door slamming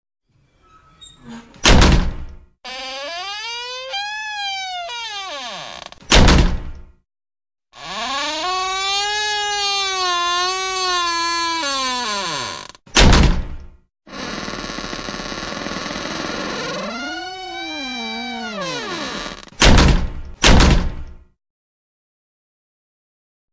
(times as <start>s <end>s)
1.3s 6.9s, 7.8s 13.6s, 14.2s 21.1s